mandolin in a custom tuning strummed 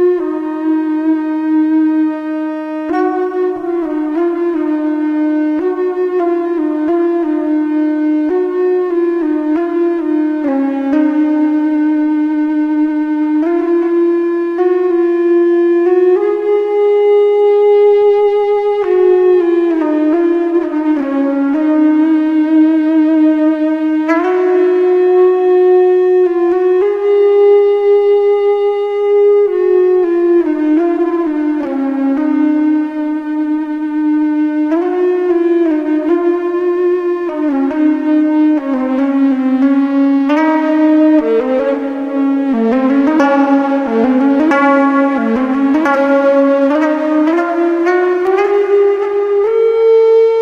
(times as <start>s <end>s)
40.3s 48.7s